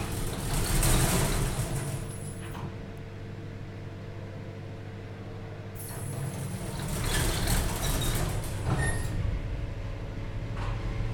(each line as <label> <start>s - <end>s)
Elevator 0.0s - 11.1s